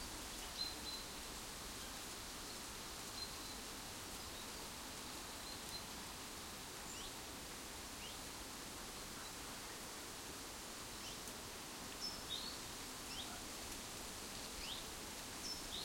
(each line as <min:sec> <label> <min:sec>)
0:10.8 dry leaves rustling in a tree 0:15.8